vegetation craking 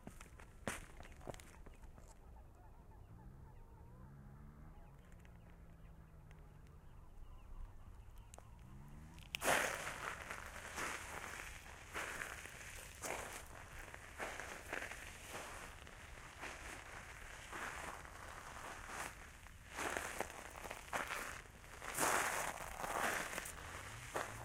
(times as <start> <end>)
9.0 24.4